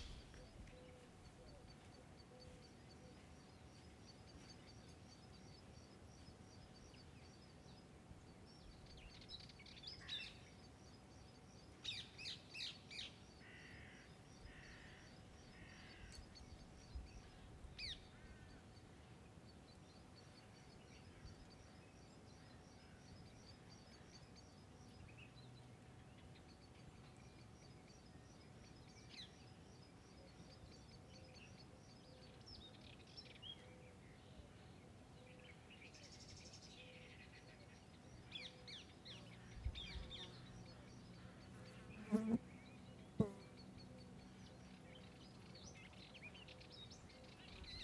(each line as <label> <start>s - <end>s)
birds 0.0s - 47.8s
flys 41.5s - 42.5s